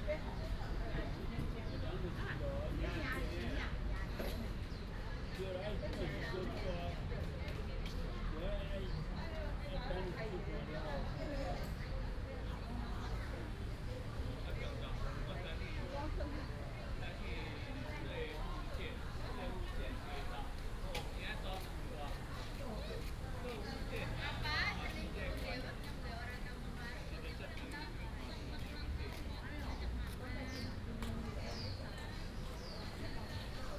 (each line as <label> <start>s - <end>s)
A lot of old people in the park 0.0s - 33.7s
birds sound 29.6s - 33.7s